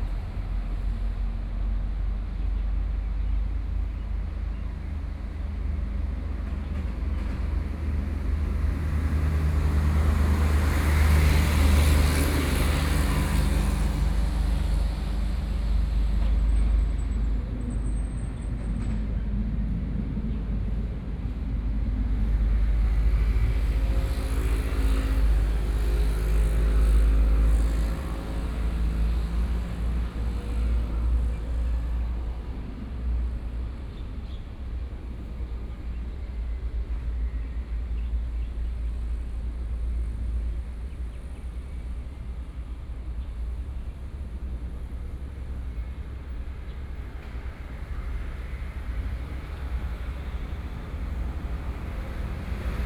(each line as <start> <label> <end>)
0.0 big trucks 52.8
0.0 traffic sounds 52.8